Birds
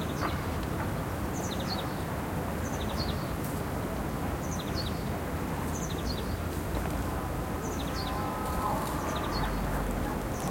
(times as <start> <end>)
7.4 10.5